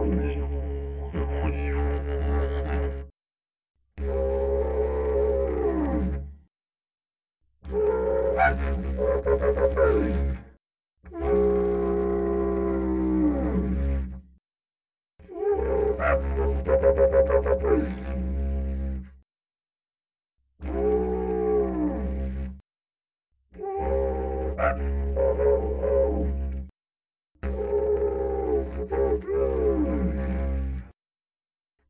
didgeridoo 0.0 - 3.1
didgeridoo 4.0 - 6.5
didgeridoo 7.6 - 14.2
didgeridoo 15.2 - 19.2
didgeridoo 20.6 - 22.6
didgeridoo 23.5 - 26.7
didgeridoo 27.4 - 31.0

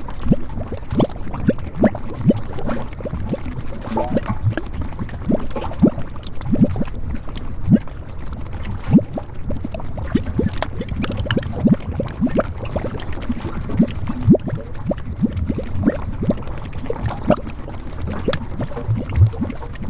Gas venting from gryphons and pools 0.0 - 19.8

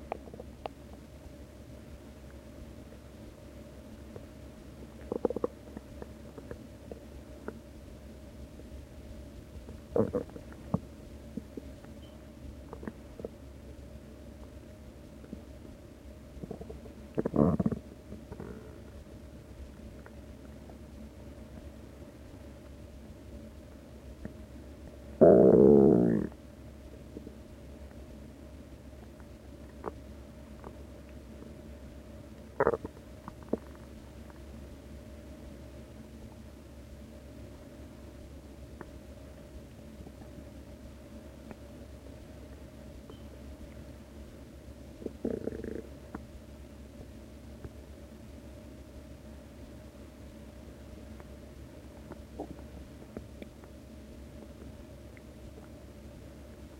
groans 9.9 - 10.4
groans 16.4 - 18.8
groans 25.2 - 26.4

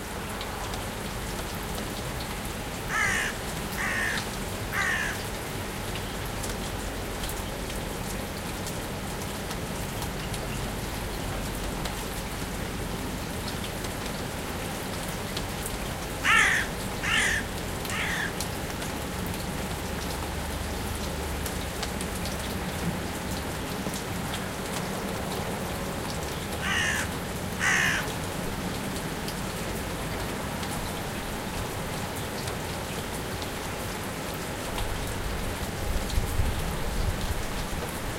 Almost inaudible traffic 0.0 - 38.1
lightrain 0.0 - 38.1
lonely crow sits on a tree and caws 2.7 - 6.2
lonely crow sits on a tree and caws 15.8 - 19.1
lonely crow sits on a tree and caws 26.0 - 28.7

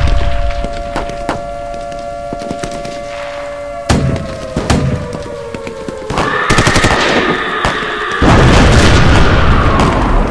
bomb 0.0 - 10.3
siren 0.0 - 10.3
screaming 6.1 - 8.2
thunder 6.2 - 10.3

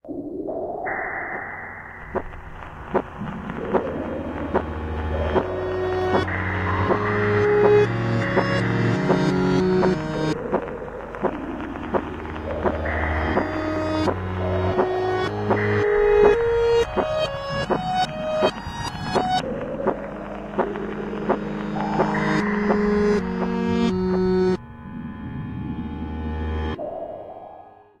heartbeat 2.0 - 24.4

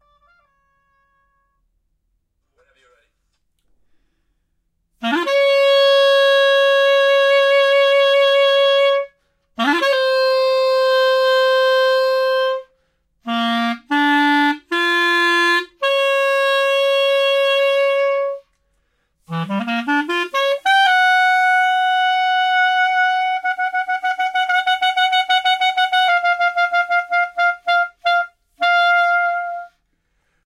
clarinet 0.0 - 1.7
clarinet 5.0 - 30.0

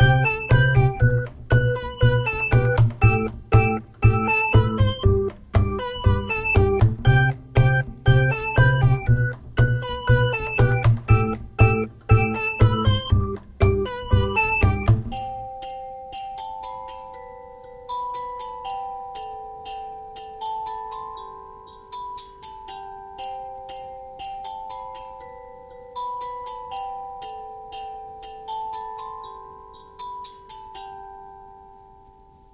Piano 0.0 - 17.4

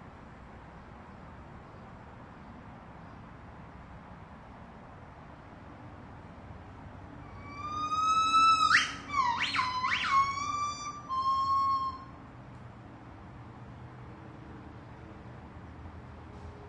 White-cheeked Gibbons calling 7.2 - 12.2

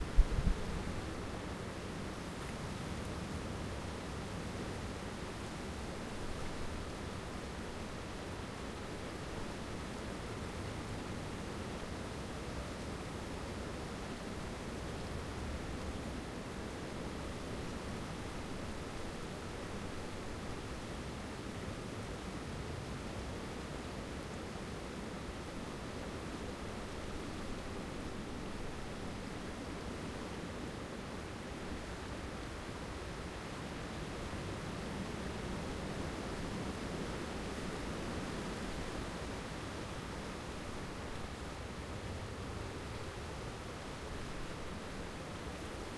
Wind in trees, gusting 0.0 - 7.7

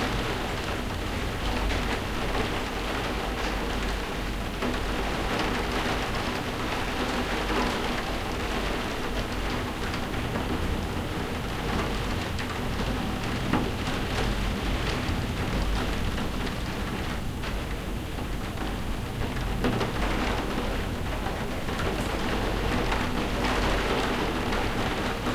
rain on a skylight 0.0 - 25.3

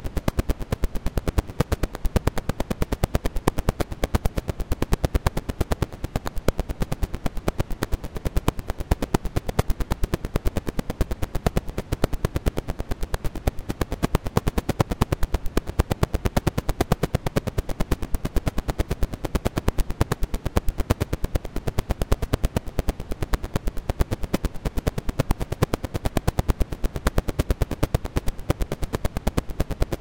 record crackle 0.0 - 30.0

